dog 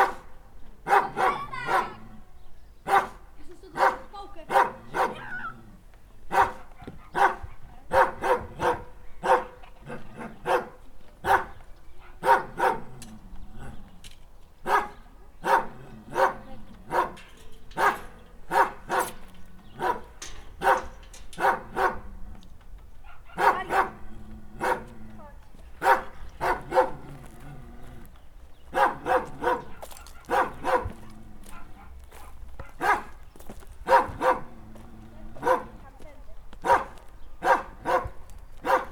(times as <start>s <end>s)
2.9s 3.2s, 3.8s 5.5s, 6.3s 12.9s, 14.7s 17.2s, 17.8s 19.2s, 23.0s 27.4s, 28.7s 33.2s, 33.9s 34.5s, 35.4s 35.8s, 36.6s 38.9s